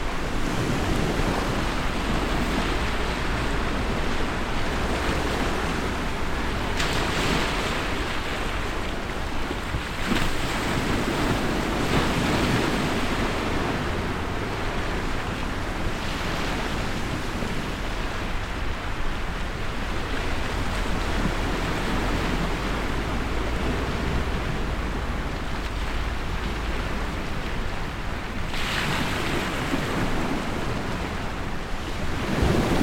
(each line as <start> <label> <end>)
17.9 road noise 28.5